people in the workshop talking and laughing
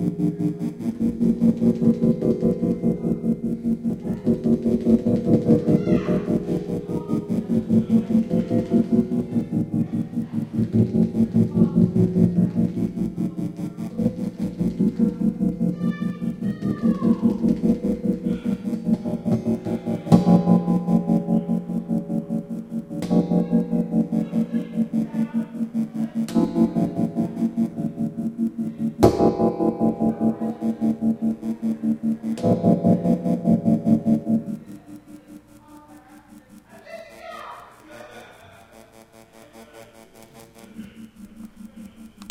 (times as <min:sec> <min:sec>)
0:34.6 0:42.2